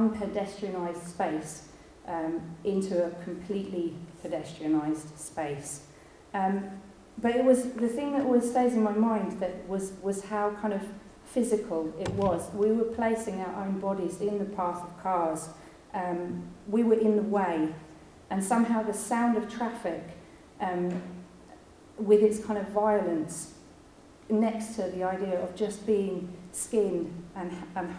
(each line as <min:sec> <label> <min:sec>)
0:12.0 banter and talking and setting up 0:12.8